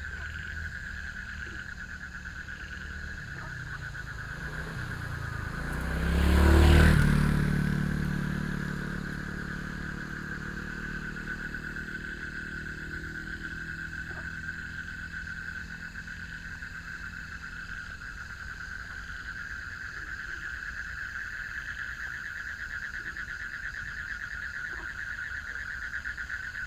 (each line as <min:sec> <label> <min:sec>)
0:00.0 Traffic Sound 0:21.4
0:00.0 Frogs chirping 0:26.6